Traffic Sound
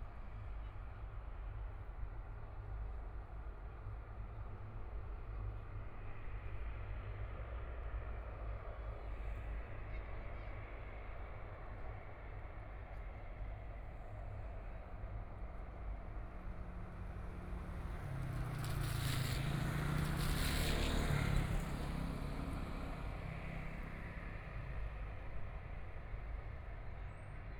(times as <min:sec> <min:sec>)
0:16.2 0:26.7